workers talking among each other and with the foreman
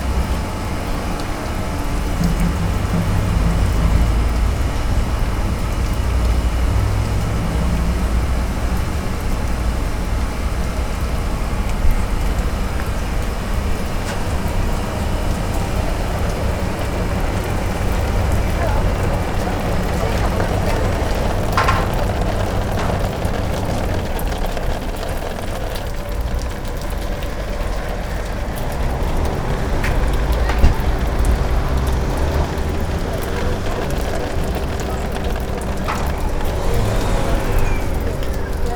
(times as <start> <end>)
13.4 27.0, 27.9 38.7